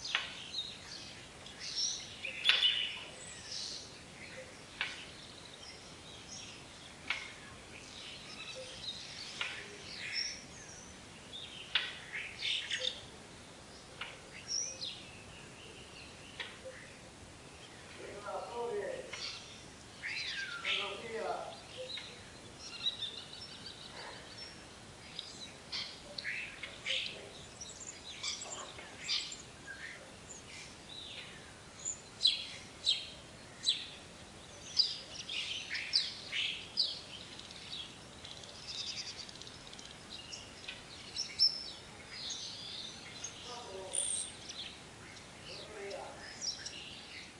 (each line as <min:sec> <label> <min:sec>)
0:00.0 greenfinches 0:47.3
0:00.0 sparrows 0:47.3
0:00.0 starlings 0:47.3
0:15.8 Greetings from neighbors 0:20.0
0:20.6 Greetings from neighbors 0:22.6
0:43.4 Greetings from neighbors 0:46.4